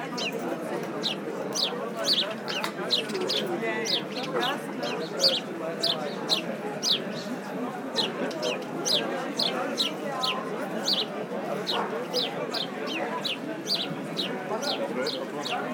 0.0s People discussing 15.7s

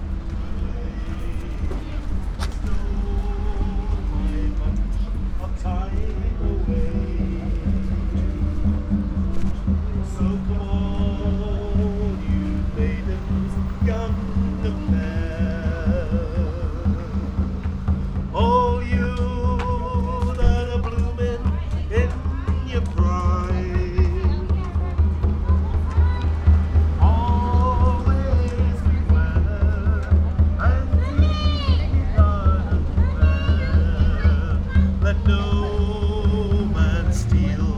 0.0s singer 37.7s

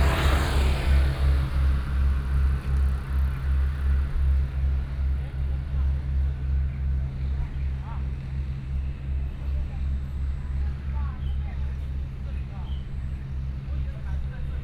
0.0s Traffic Sound 5.2s

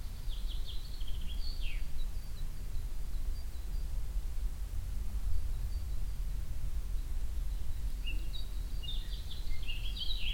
0.0s birds 10.3s
0.0s crickets 10.3s

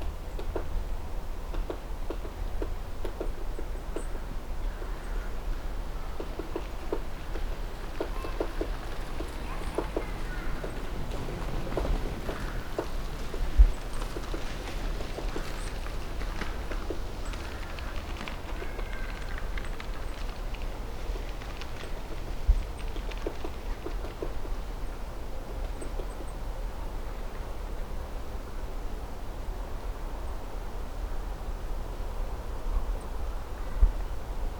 5.9s woodpecker 24.7s

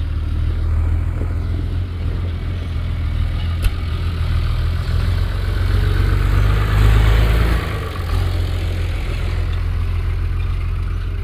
0.0s tractor passing by 11.2s
2.0s working noise from a nearby barn yard 5.0s
5.8s working noise from a nearby barn yard 11.2s

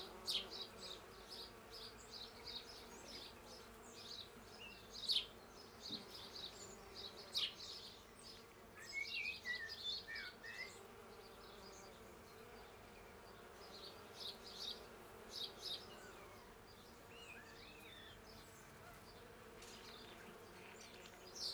0.0s Bees 21.5s
0.0s Birds in the background 21.5s

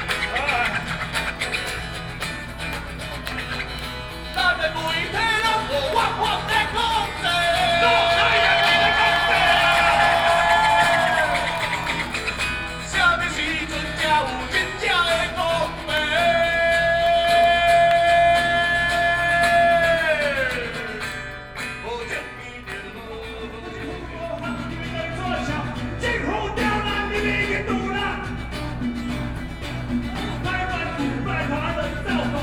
0.0s Rock band performing songs 32.4s
4.3s shouting slogans 21.1s

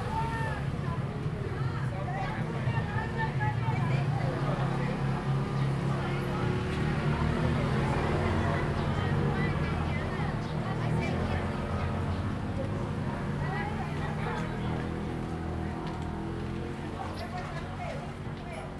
0.0s Tourists 0.7s
0.0s Traffic Sound 0.8s

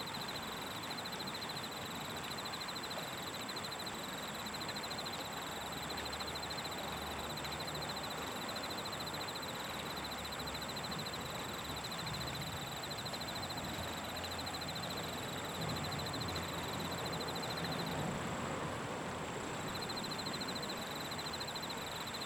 0.0s Crickets 22.2s

